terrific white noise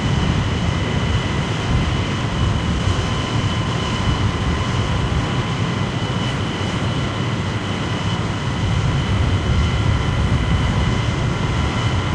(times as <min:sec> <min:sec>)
0:00.0 0:05.3